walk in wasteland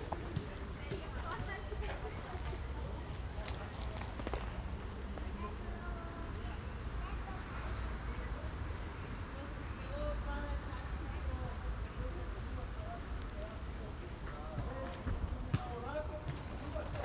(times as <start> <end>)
0.0 5.4, 16.2 17.0